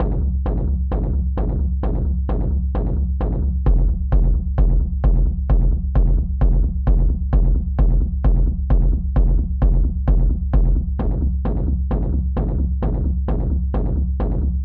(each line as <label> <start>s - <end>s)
kick 0.0s - 14.6s